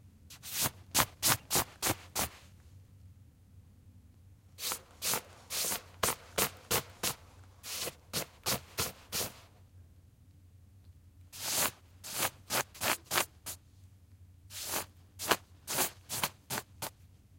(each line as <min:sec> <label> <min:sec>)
0:00.3 Brushing off a down/nylon jacket 0:02.5
0:04.6 Brushing off a down/nylon jacket 0:09.5
0:11.4 Brushing off a down/nylon jacket 0:13.6
0:14.5 Brushing off a down/nylon jacket 0:16.9